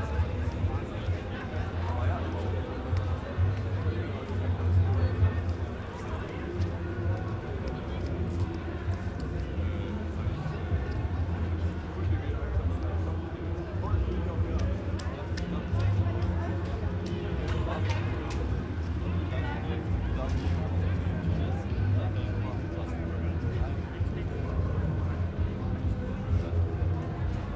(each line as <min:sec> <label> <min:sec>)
0:00.0 1000s of people in the street 0:27.5